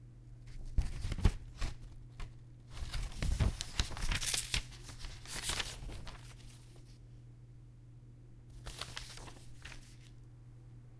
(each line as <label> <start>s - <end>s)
Turning over sheets of paper 0.5s - 7.0s
Turning over sheets of paper 8.5s - 10.2s